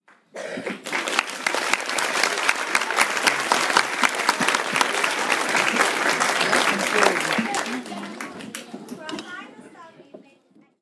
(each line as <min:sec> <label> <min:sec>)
0:00.6 Large crowd applause 0:09.0
0:00.9 cheer 0:08.6